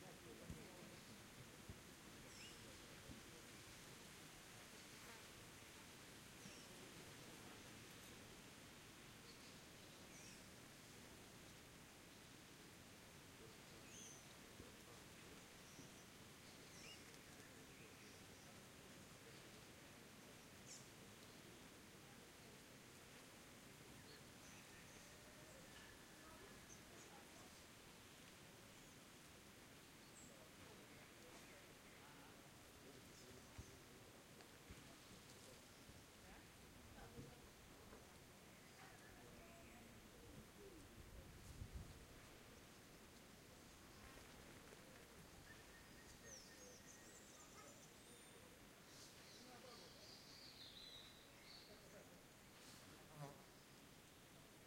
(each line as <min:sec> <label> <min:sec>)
0:09.2 birds 0:10.5
0:13.4 birds 0:21.6
0:13.4 small talk 0:53.6
0:23.8 birds 0:27.6
0:41.8 birds 0:54.3